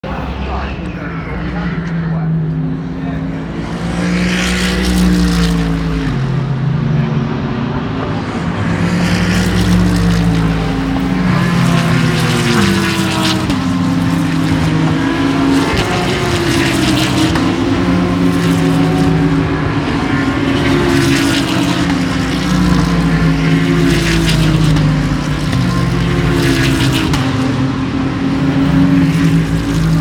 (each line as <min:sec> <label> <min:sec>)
0:00.0 Commentators faintly heard 0:04.6
0:00.0 Loud supercars constantly passing by 0:30.0